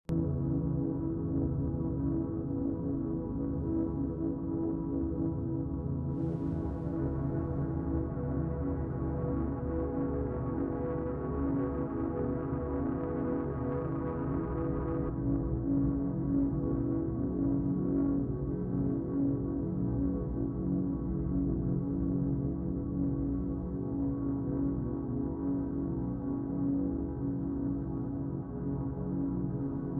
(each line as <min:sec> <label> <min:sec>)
0:00.1 ambient wall of sound 0:29.9